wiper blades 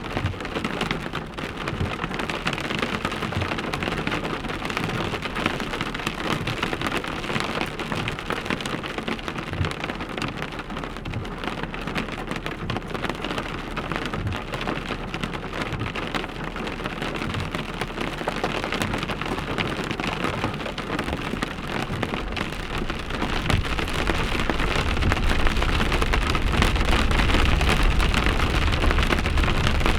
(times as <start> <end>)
18.8 29.9